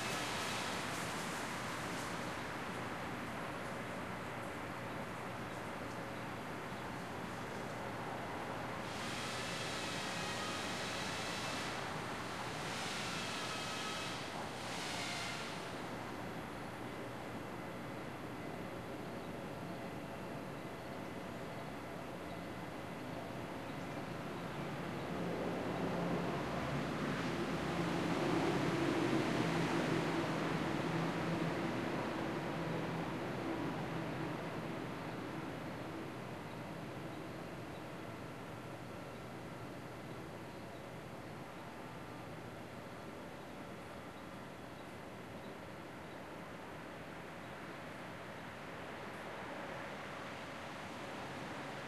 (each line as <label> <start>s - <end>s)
traffic passes 0.0s - 18.0s
saws cutting wood 13.0s - 14.3s
traffic passes 24.2s - 40.0s